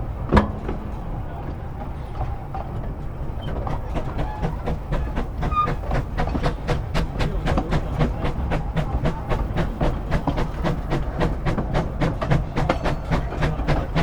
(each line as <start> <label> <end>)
0.0 Steam Train Climbs 14.0